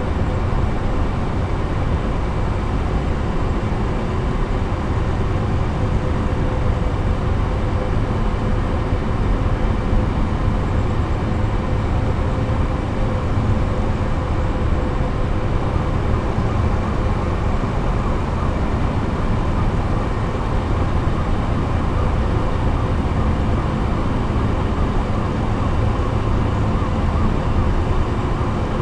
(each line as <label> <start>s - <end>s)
machines from the coalmine 15.6s - 28.8s